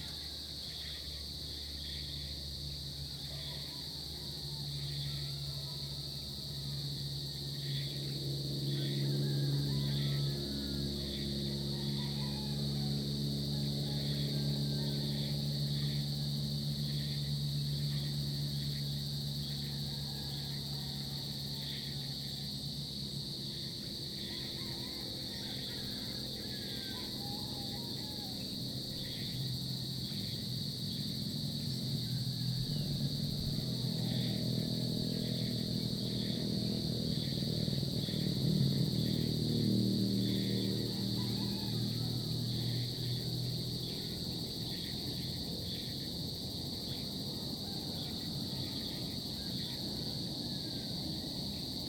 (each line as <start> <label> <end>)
0.0 insects 51.8
6.1 lizards 51.8